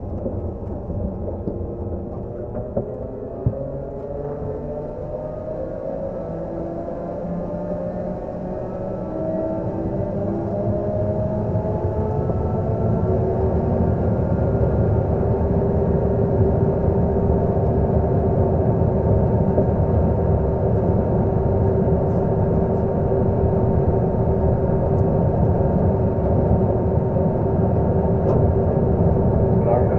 Engine 0:00.0 - 0:29.9

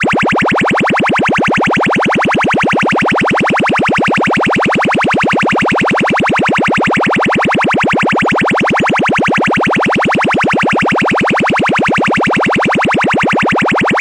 cartoon-like siren 0:11.9 - 0:14.0

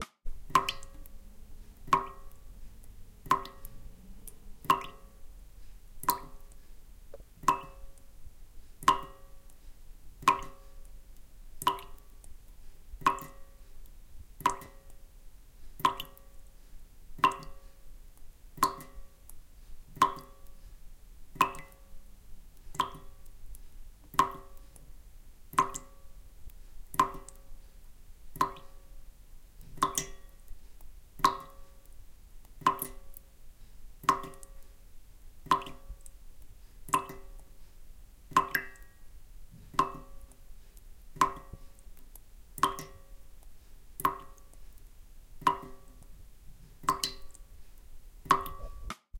Water dripping slow into metal sink 0:00.3 - 0:49.0

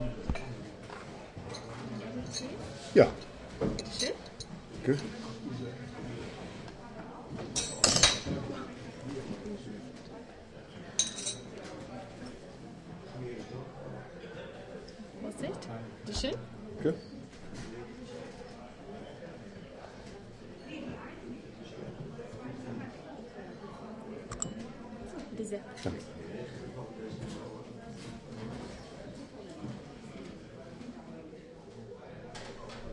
waitress at hotel seeblick, thuelsfeld reservoir, serves tea 0:01.4 - 0:05.2
waitress at hotel seeblick, thuelsfeld reservoir, serves tea 0:09.4 - 0:11.8
dialogue between guest and waitress 0:15.2 - 0:17.0
waitress at hotel seeblick, thuelsfeld reservoir, serves tea 0:23.6 - 0:26.1

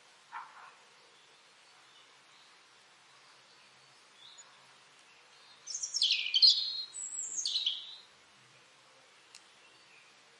birdsong 0:00.0 - 0:10.3
small drops of rain are hitting the ground 0:01.5 - 0:05.5
small drops of rain are hitting the ground 0:08.2 - 0:10.3

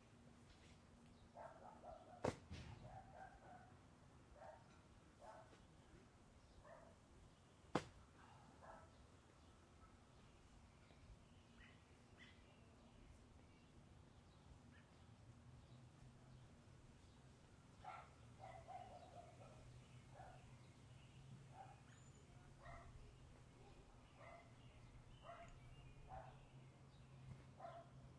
dog bark 0:01.4 - 0:03.8
dog bark 0:04.4 - 0:05.6
birds 0:04.4 - 0:28.1
dog bark 0:06.6 - 0:07.0
dog bark 0:08.2 - 0:09.0
dog bark 0:17.8 - 0:20.4
dog bark 0:21.5 - 0:22.0
dog bark 0:22.6 - 0:23.0
dog bark 0:24.2 - 0:24.6
dog bark 0:25.2 - 0:26.4
dog bark 0:27.6 - 0:28.0

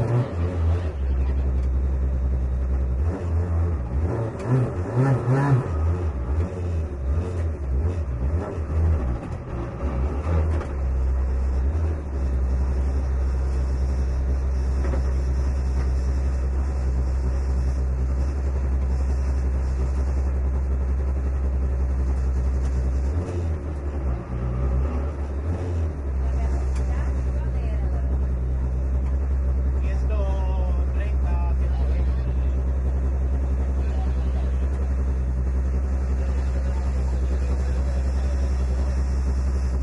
Interior Rally Racing Car 0:00.0 - 0:39.8

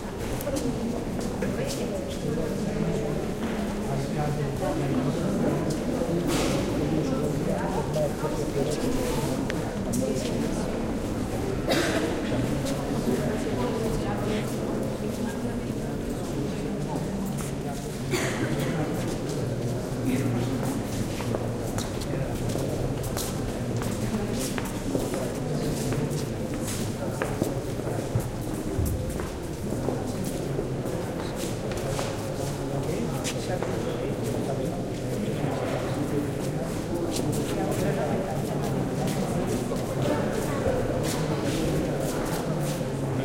talk 0:00.0 - 0:43.2

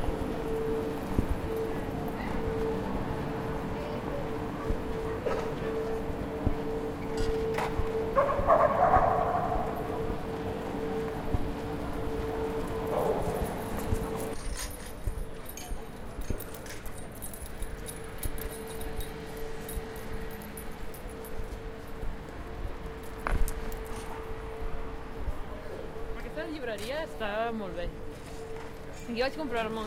Drone coming from a huge car-park ventilation system 0:00.0 - 0:29.8

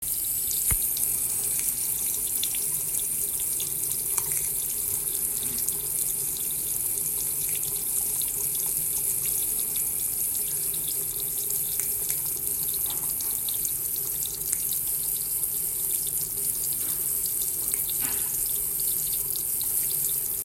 faucet running water 0:00.0 - 0:20.4

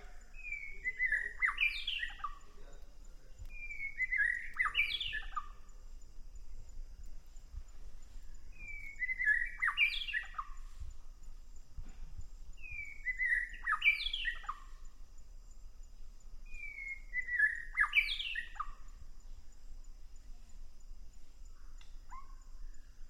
Bird Song 03 0:00.0 - 0:20.8

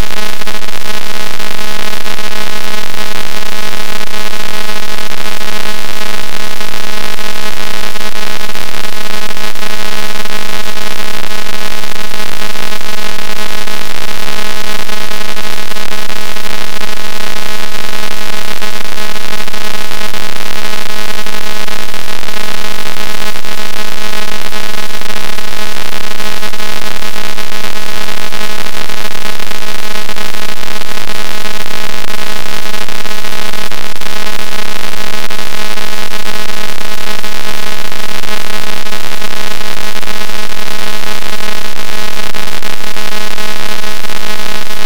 crackle 0:00.0 - 0:44.8

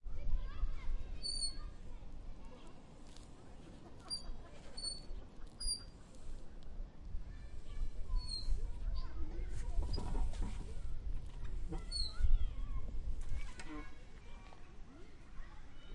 Metal squeak 0:01.2 - 0:01.6
Metal squeak 0:04.1 - 0:05.9
Metal squeak 0:08.2 - 0:08.6
Metal squeak 0:11.7 - 0:12.2

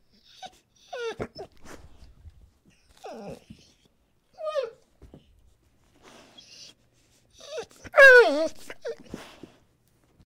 Medium-sized dog whimpering 0:00.1 - 0:01.6
Medium-sized dog whimpering 0:02.7 - 0:04.8
Medium-sized dog whimpering 0:06.1 - 0:09.4

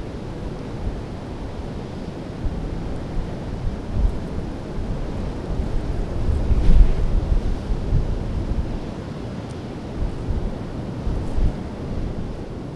sea far below 0:00.0 - 0:12.7
wind 0:00.0 - 0:12.7

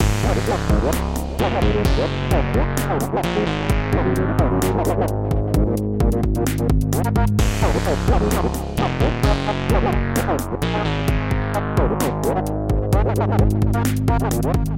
music 0:00.0 - 0:14.7

